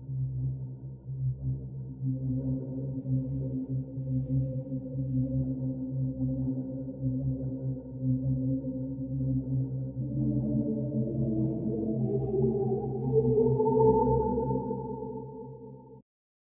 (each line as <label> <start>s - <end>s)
Space mellow synth 5.8s - 16.0s